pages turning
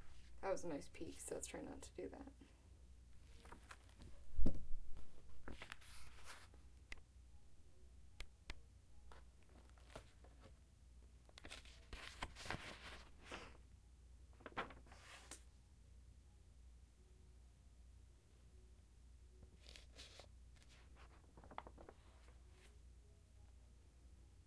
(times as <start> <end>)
3.2 7.0, 9.1 10.6, 11.3 13.6, 14.4 15.5, 19.6 22.7